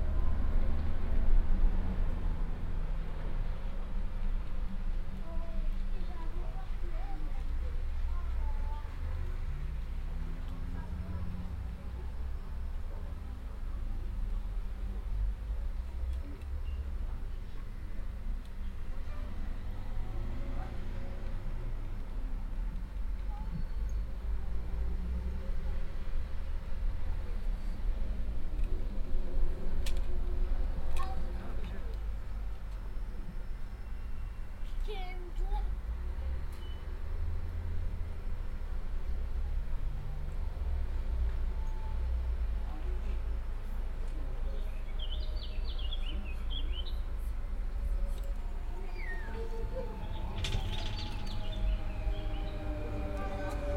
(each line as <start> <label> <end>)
0.0 train drives into the station 53.7
47.0 the train leaves 53.7
47.1 people enter 53.7
47.4 People waiting 53.7